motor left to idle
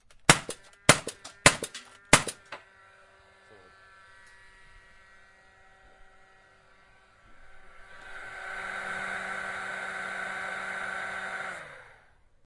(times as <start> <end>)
7.7 12.2